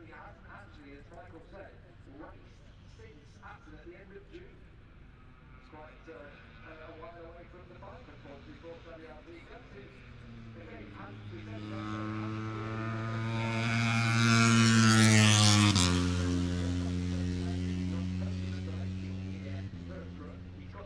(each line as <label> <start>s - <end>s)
british motorcycle grand prix 0.0s - 20.8s